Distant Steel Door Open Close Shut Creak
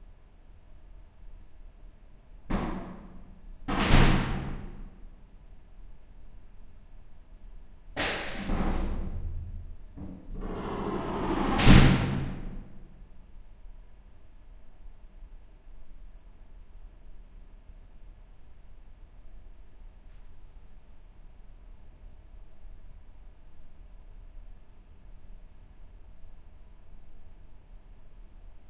0:02.8 0:05.0, 0:08.0 0:13.0

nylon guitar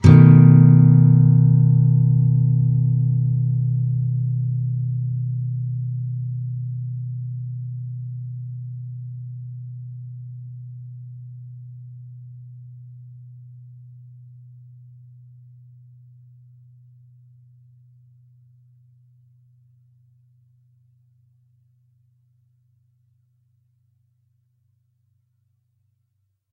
0:00.0 0:08.0

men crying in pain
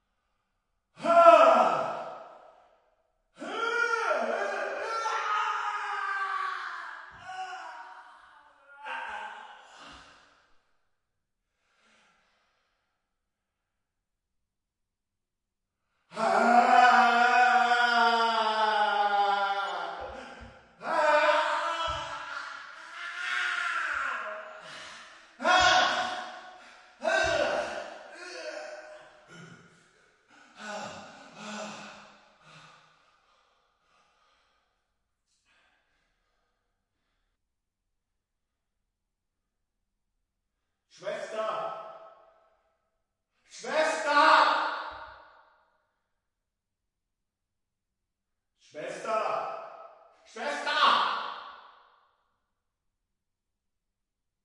0:16.2 0:29.5

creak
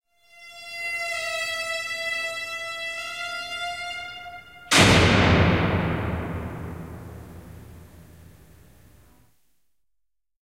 0:00.2 0:04.7

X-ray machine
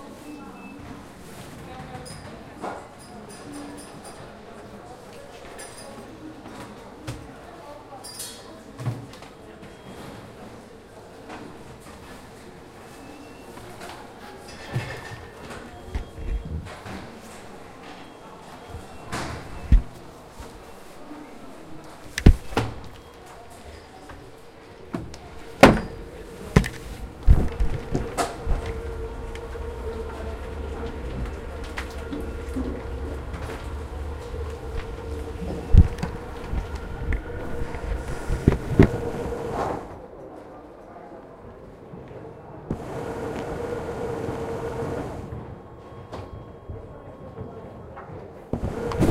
0:25.6 0:39.9, 0:42.7 0:45.2

